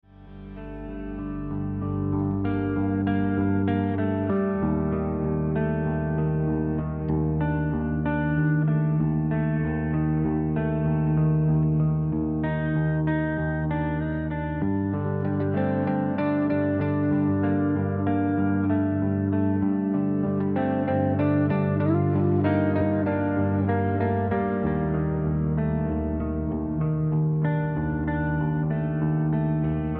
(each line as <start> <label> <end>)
0.0 guitar 29.9